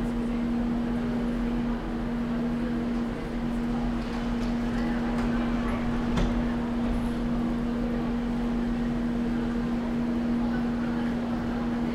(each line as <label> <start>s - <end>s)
people 0.0s - 11.9s
Glides of tram wheels 1.0s - 11.9s